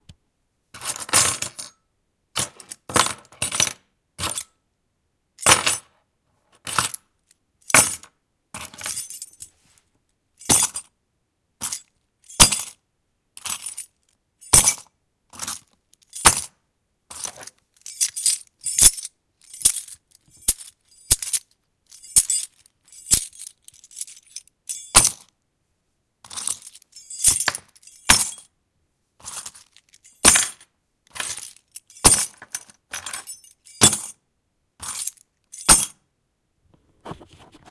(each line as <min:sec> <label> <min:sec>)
0:00.8 bunch of keys, with some big iron ones included, being grabbed 0:01.8
0:02.4 bunch of keys, with some big iron ones included, being grabbed 0:04.6
0:05.4 bunch of keys, with some big iron ones included, being grabbed 0:05.9
0:06.5 bunch of keys, with some big iron ones included, being grabbed 0:10.9
0:11.6 bunch of keys, with some big iron ones included, being grabbed 0:12.8
0:13.4 bunch of keys, with some big iron ones included, being grabbed 0:25.4
0:26.2 bunch of keys, with some big iron ones included, being grabbed 0:28.5
0:29.2 bunch of keys, with some big iron ones included, being grabbed 0:34.2
0:34.8 bunch of keys, with some big iron ones included, being grabbed 0:36.0